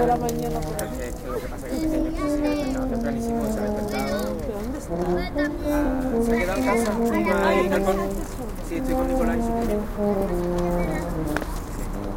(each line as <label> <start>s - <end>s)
kids playing 0.0s - 11.6s
voices of adults 0.0s - 12.0s